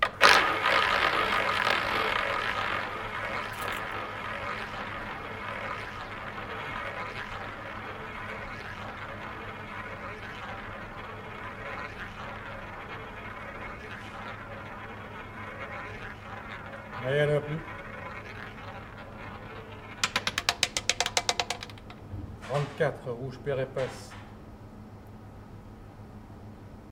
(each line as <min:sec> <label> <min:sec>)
0:00.0 croupier 0:22.1
0:00.0 roulette roll 0:22.7